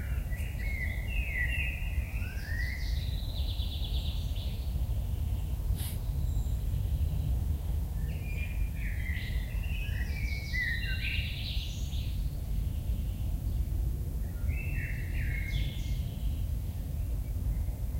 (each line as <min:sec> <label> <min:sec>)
0:00.0 birdsong 0:17.9